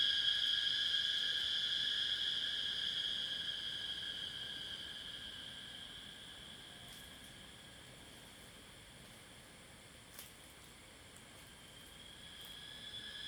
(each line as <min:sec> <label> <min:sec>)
0:00.0 Cicada sounds 0:06.7
0:11.7 Cicada sounds 0:13.2